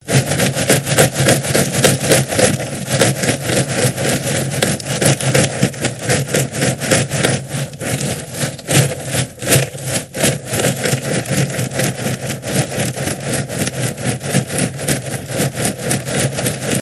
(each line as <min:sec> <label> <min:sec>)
0:00.1 crunch 0:16.8